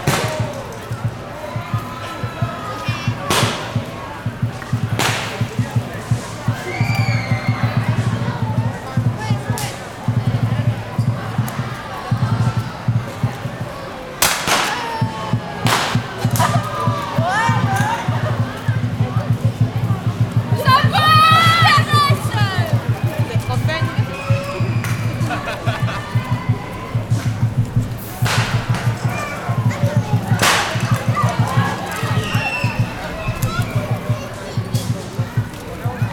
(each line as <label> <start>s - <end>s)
snaps fireworks 0.0s - 1.2s
Chinese drums 0.0s - 36.1s
snaps fireworks 3.2s - 6.4s
snaps fireworks 14.2s - 17.1s
snaps fireworks 22.2s - 35.6s